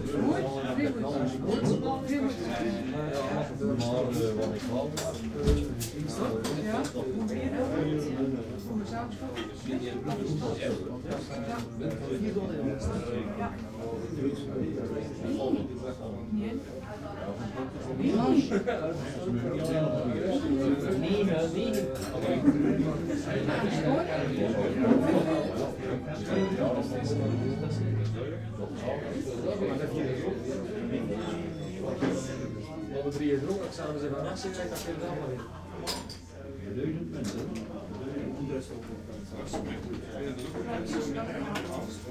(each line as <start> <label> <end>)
0.0 busy bar 42.1